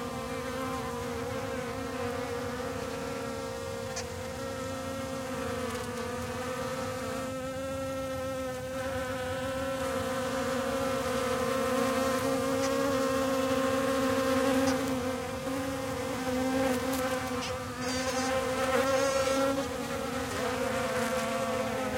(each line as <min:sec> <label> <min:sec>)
0:00.0 buzz of solitary bees foraging 0:21.9